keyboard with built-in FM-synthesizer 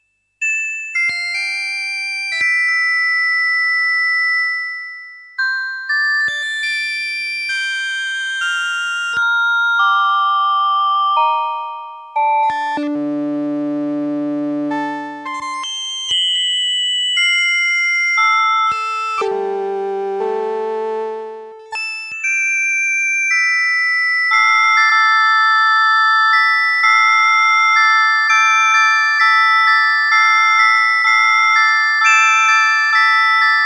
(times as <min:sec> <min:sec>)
0:09.1 0:16.2, 0:17.8 0:21.8